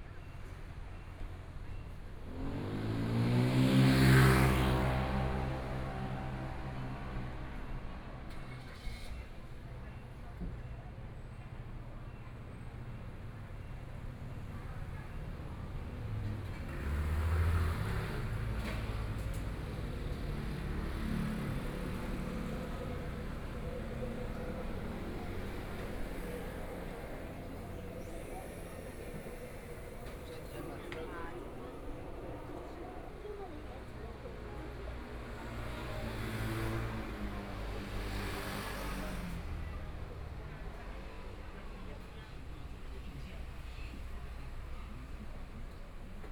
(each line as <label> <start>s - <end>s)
Traffic Sound 0.0s - 10.6s
Sound a variety of shops and restaurants 0.0s - 46.3s
Traffic Sound 11.5s - 46.3s
Walking across the different streets 13.1s - 46.3s